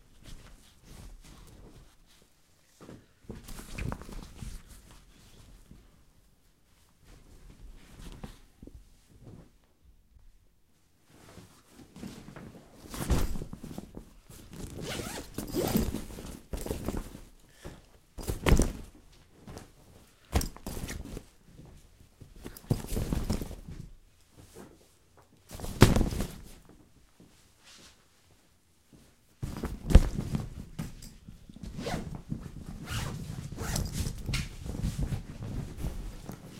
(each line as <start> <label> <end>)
14.5 make the suitcase 17.2
29.4 make the suitcase 36.5